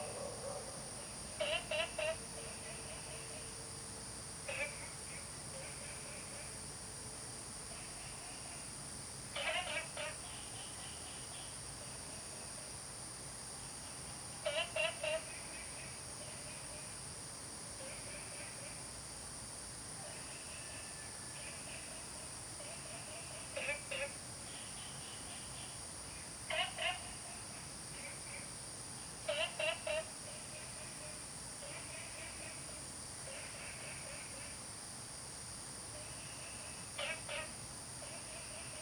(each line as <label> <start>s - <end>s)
Dogs barking 0.0s - 0.9s
Frog calls 0.0s - 3.5s
Frog calls 4.4s - 6.6s
Frog calls 7.7s - 12.3s
Frog calls 14.4s - 17.0s
Frog calls 17.8s - 19.0s
Frog calls 20.0s - 34.8s
Frog calls 35.9s - 38.8s